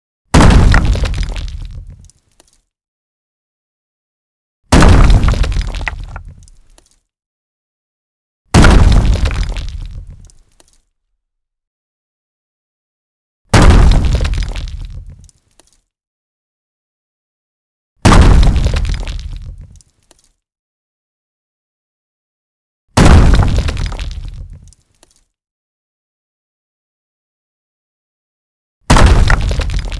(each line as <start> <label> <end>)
0.3 explosive punchy rock impacts 2.0
4.7 explosive punchy rock impacts 6.4
8.6 explosive punchy rock impacts 10.2
13.6 explosive punchy rock impacts 15.1
18.0 explosive punchy rock impacts 19.6
23.0 explosive punchy rock impacts 24.6
28.9 explosive punchy rock impacts 29.9